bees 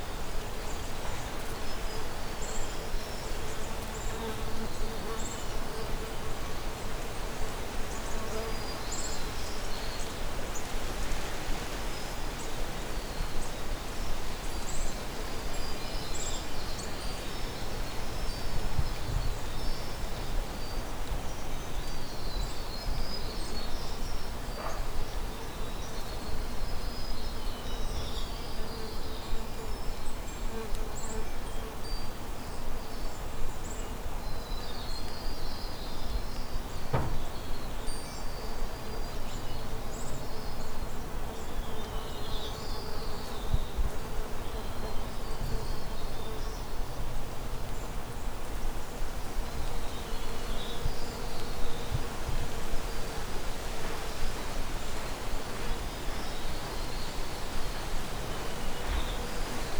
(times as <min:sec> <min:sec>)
0:48.8 0:59.7